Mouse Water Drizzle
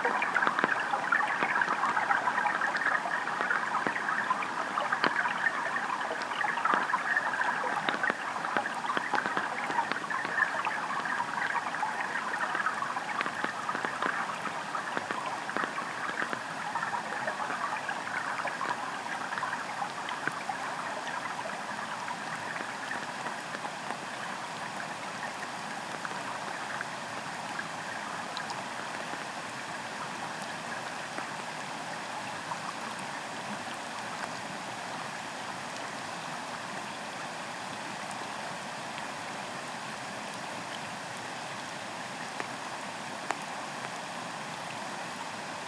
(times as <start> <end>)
0.0 29.3